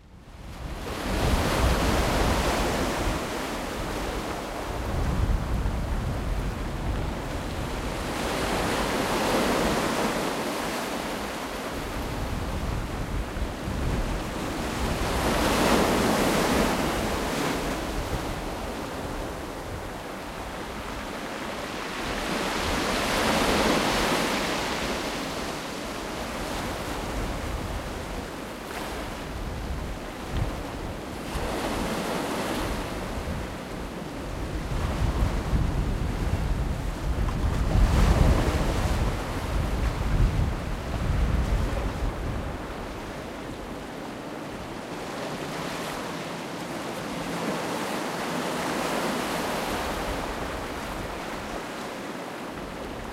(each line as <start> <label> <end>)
0.0 constant presence of wind 53.1
0.0 waves of a rough sea 53.1